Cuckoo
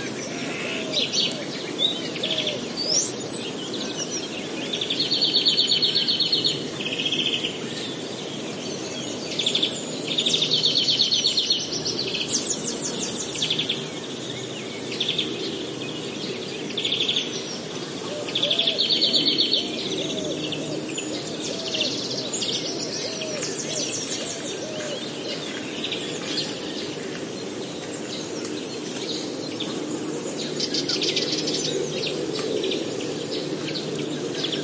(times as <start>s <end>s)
18.0s 25.5s